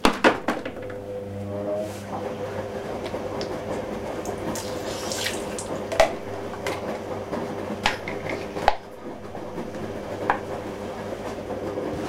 washing 3.0 - 6.0

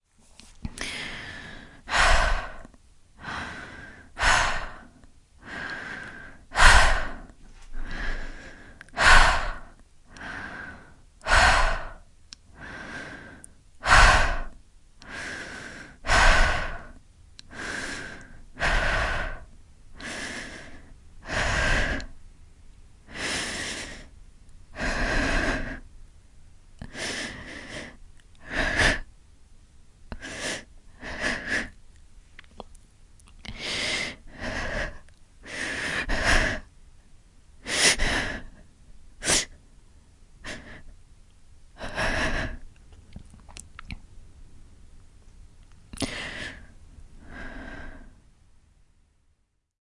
heavy breath 0.7 - 22.2
heavy breath 23.1 - 25.9
heavy breath 26.8 - 29.1
heavy breath 30.1 - 31.8
heavy breath 33.5 - 36.7
heavy breath 37.6 - 39.6
heavy breath 40.4 - 40.9
heavy breath 41.8 - 42.7
heavy breath 46.0 - 48.2

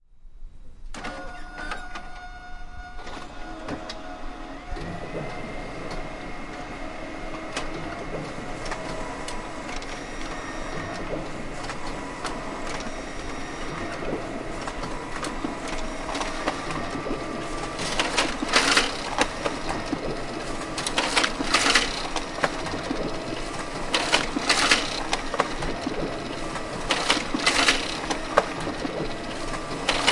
printer 0.9 - 30.1

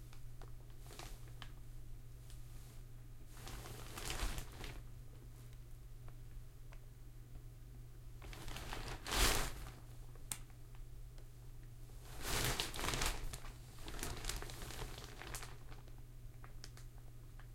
cringle of plastic sheet 0.8 - 1.5
cringle of plastic sheet 3.3 - 4.9
cringle of plastic sheet 8.2 - 9.8
cringle of plastic sheet 12.1 - 16.9

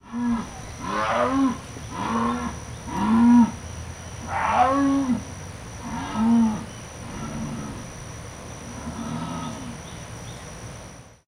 crickets 0.0 - 11.2
single Jaguar roaring 0.0 - 3.6
single Jaguar roaring 4.2 - 7.9
single Jaguar roaring 8.8 - 9.8

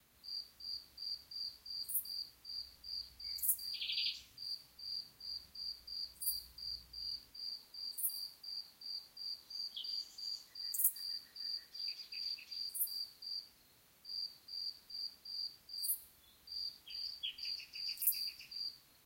crickets 0.2 - 19.0
birds 1.8 - 5.0
birds 9.3 - 13.8
birds 15.8 - 18.8

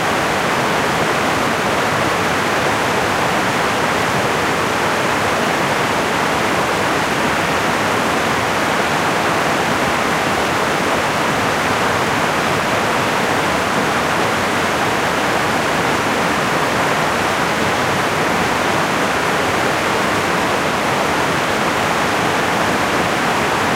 meltwater at a series of small waterfalls 0.0 - 23.7

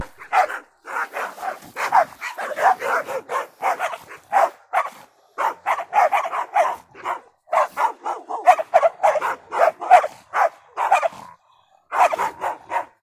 dogs barking during a fight 0.0 - 13.0
growling 9.3 - 13.0

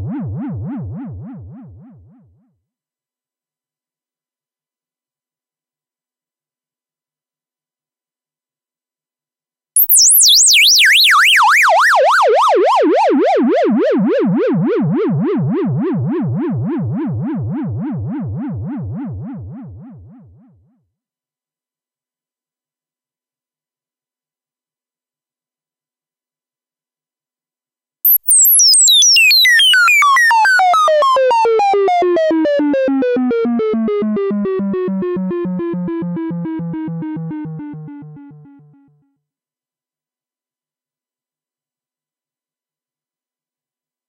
bleeps and sweeps 9.8 - 11.3
bleeps and sweeps 28.1 - 31.1

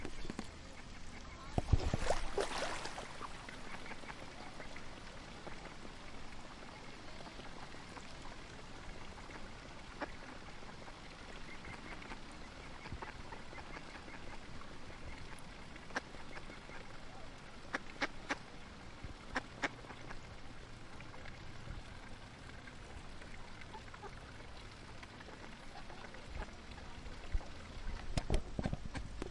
Fountain 0.0 - 29.3
Ducks 3.5 - 5.8
Ducks 9.1 - 18.4
Ducks 19.3 - 20.2
Ducks 23.2 - 29.1

